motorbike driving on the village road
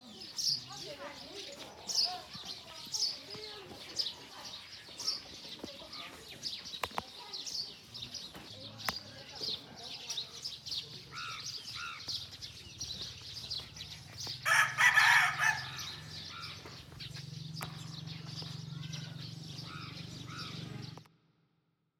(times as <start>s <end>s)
10.8s 21.2s